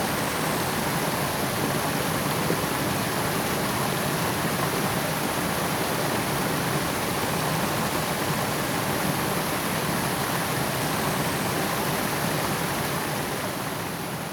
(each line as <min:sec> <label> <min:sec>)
0:00.0 water 0:14.3